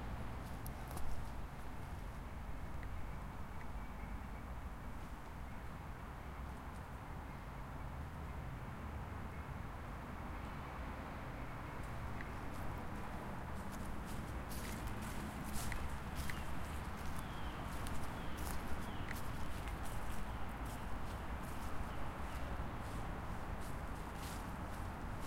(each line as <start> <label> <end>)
11.8 steps in the autumn leaves 25.2